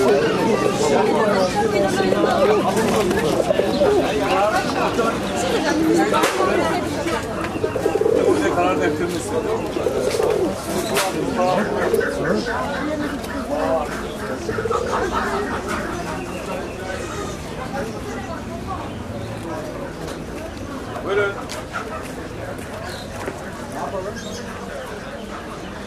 0.0s chicken 18.0s
0.0s chicks 20.7s
0.0s pidgeons 25.8s
21.0s chicken 25.8s

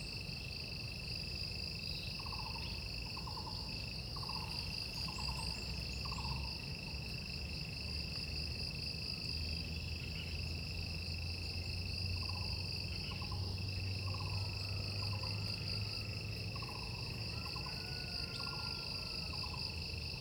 0.0s insects 20.2s

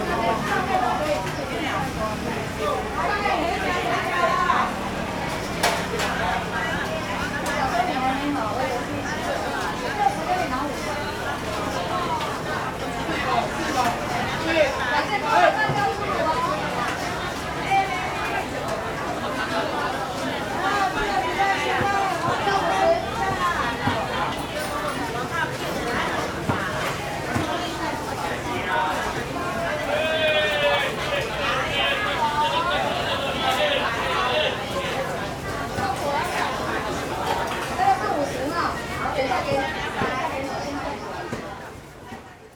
26.3s Traffic Sound 37.9s

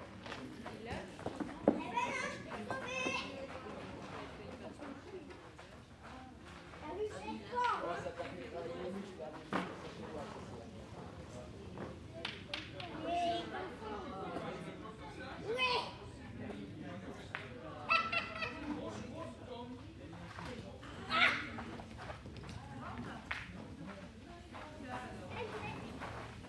0.3s Two boys playing Petanque 10.0s
11.8s Two boys playing Petanque 26.4s

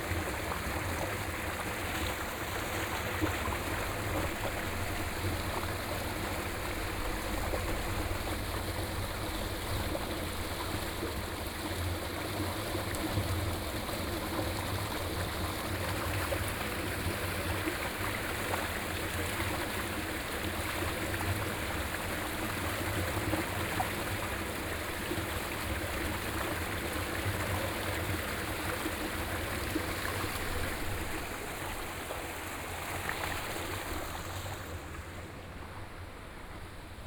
0.0s water 37.0s

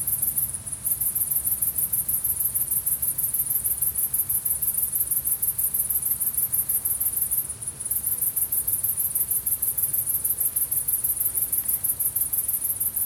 0.0s Singing crickets 13.0s

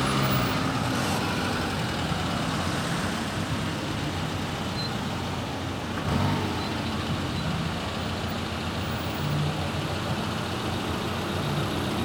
0.0s Traffic jam 12.0s

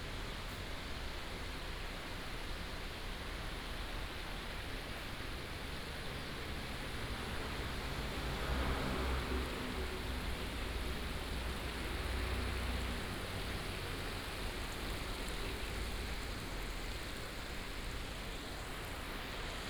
5.8s Stream sound 19.6s
7.0s Traffic sound 19.2s

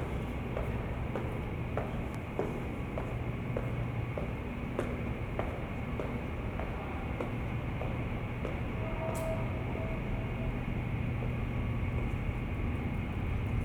0.0s subway 13.6s

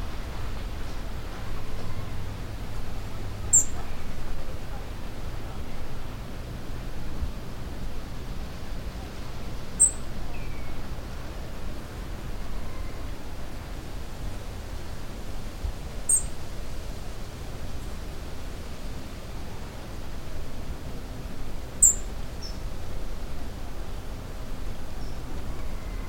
3.4s Robin singing 4.4s
9.7s Robin singing 10.8s
16.1s Robin singing 16.4s
21.8s Robin singing 22.7s
24.9s Robin singing 26.0s

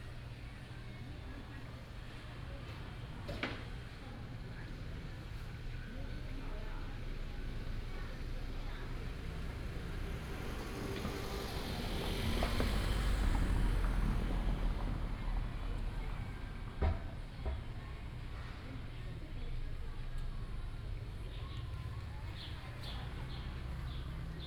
7.0s traffic sound 24.4s

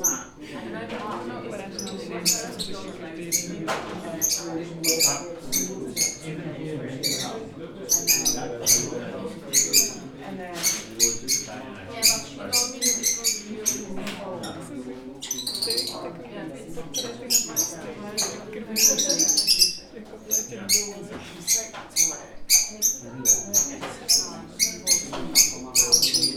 1.7s Parrots 6.3s
6.9s Parrots 16.1s
16.9s Parrots 26.3s

